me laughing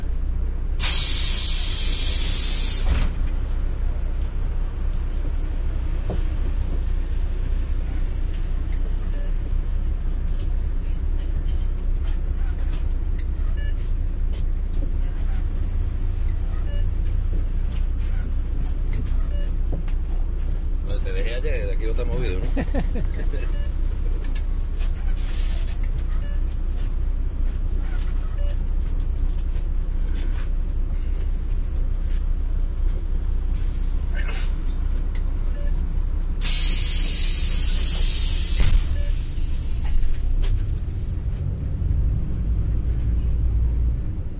22.3s 23.6s

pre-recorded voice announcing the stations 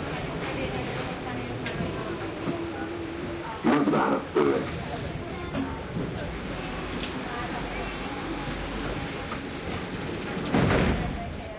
3.6s 4.7s

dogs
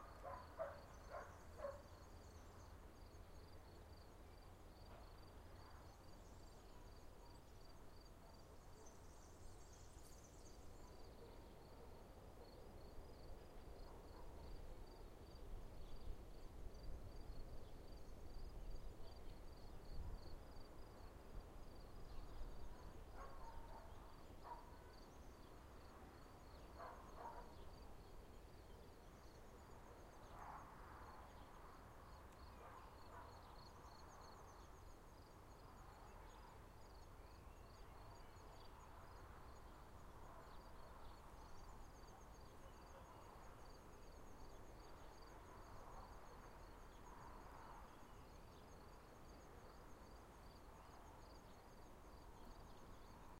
0.0s 1.9s, 23.2s 24.8s, 26.7s 27.6s, 30.2s 30.8s, 32.5s 33.6s

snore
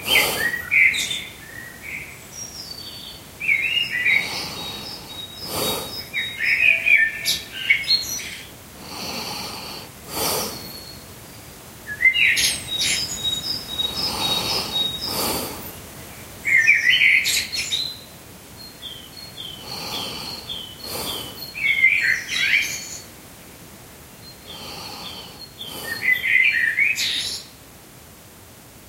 4.1s 6.0s, 8.8s 10.7s, 13.9s 15.7s, 19.6s 21.4s, 24.5s 26.1s

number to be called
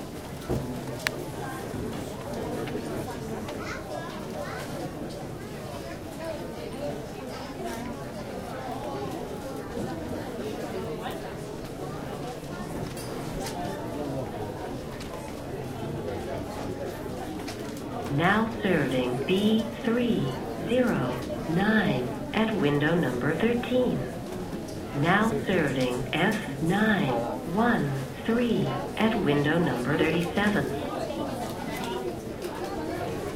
18.1s 24.2s, 24.9s 30.8s

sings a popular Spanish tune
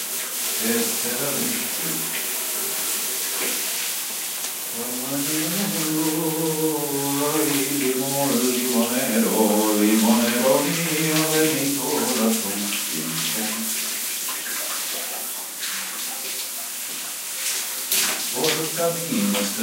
0.6s 2.1s, 4.7s 13.8s, 18.3s 19.6s

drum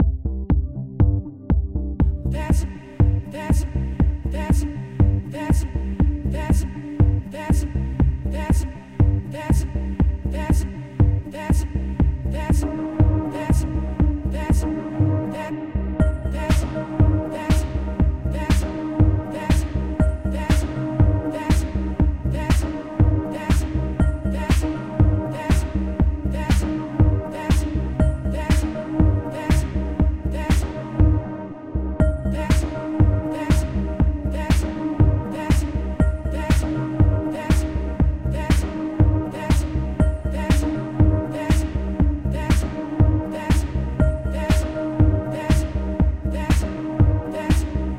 25.5s 26.7s, 27.5s 30.7s

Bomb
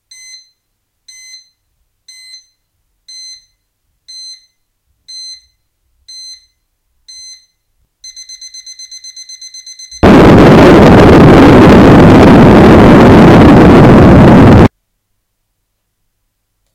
9.7s 14.7s

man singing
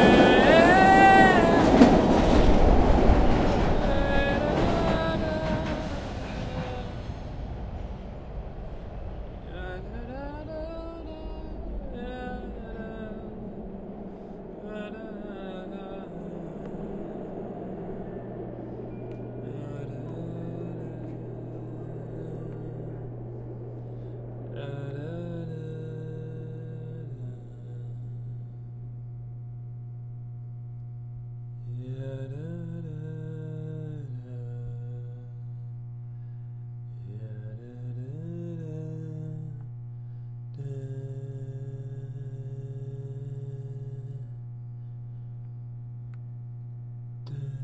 0.0s 2.7s, 3.5s 7.1s, 9.4s 13.6s, 14.6s 18.0s, 19.4s 23.2s, 24.5s 28.8s, 31.6s 35.8s, 36.9s 39.7s, 40.5s 44.5s, 47.2s 47.6s

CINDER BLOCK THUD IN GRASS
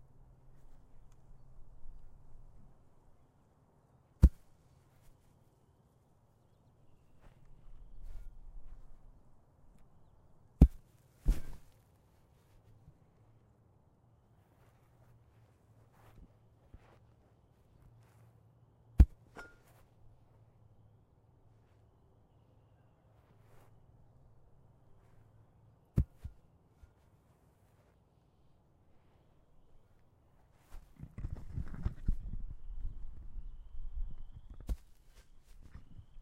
4.2s 4.4s, 10.6s 11.7s, 19.0s 19.8s, 26.0s 26.4s, 34.5s 34.9s

